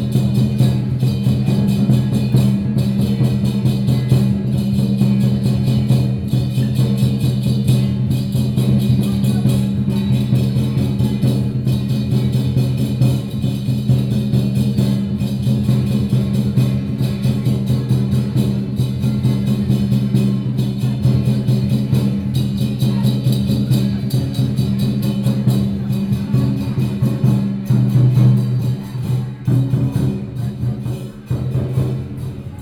Traditional percussion performances 0:00.0 - 0:32.6

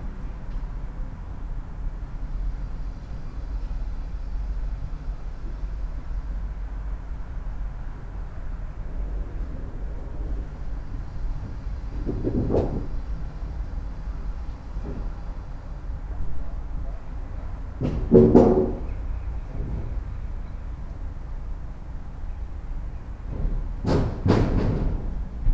wood rumble 0:08.8 - 0:13.8
wood rumble 0:17.8 - 0:20.1
wood rumble 0:23.2 - 0:25.5

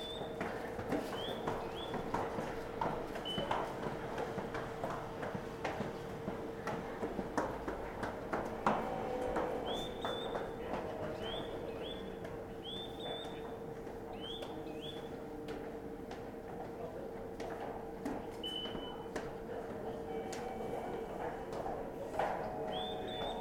Bird sound speaker 0:22.7 - 0:23.4

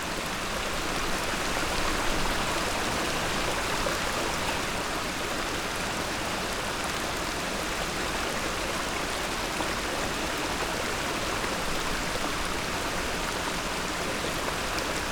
waterflow under the stony bridge 0:00.0 - 0:15.1

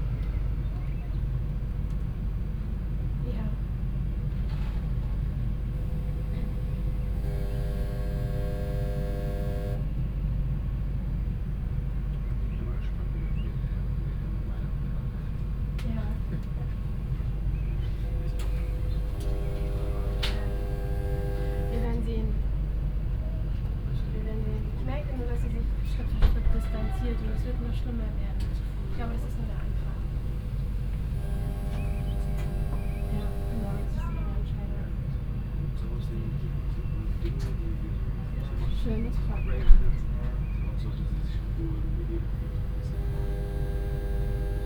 people waiting in and outside, making phone calls, talking 0:03.2 - 0:09.9
strange periodic hum from a hidden control panel 0:05.5 - 0:09.9
people waiting in and outside, making phone calls, talking 0:11.7 - 0:44.6
strange periodic hum from a hidden control panel 0:16.8 - 0:22.8
strange periodic hum from a hidden control panel 0:27.9 - 0:34.4
strange periodic hum from a hidden control panel 0:41.1 - 0:44.6

